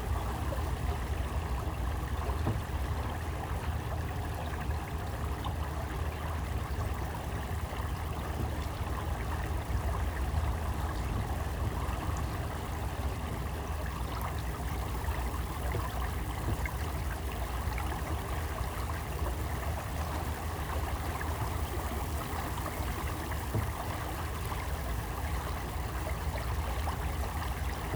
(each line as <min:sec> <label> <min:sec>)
0:00.0 Electric boat rippling through water channel in reeds 0:27.9